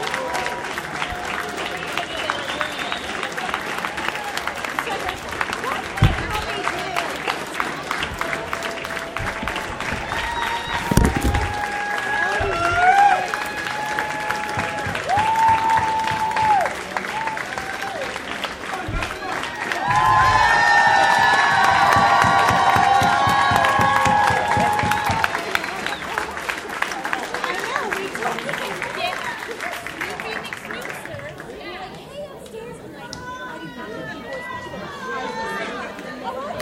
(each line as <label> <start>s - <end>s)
people on the phone banks started cheering 9.1s - 18.2s
noices when my microphone got tapped 10.8s - 11.6s
people on the phone banks started cheering 18.9s - 26.2s